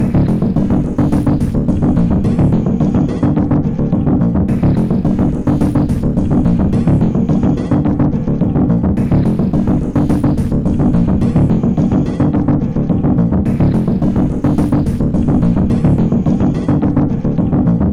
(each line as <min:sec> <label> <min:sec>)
0:00.0 Drum 0:03.4
0:00.0 Synth Loop 0:03.4
0:04.5 Synth Loop 0:07.8
0:04.5 Drum 0:08.0
0:09.0 Drum 0:12.4
0:09.0 Synth Loop 0:12.5
0:13.5 Drum 0:16.9
0:13.5 Synth Loop 0:17.0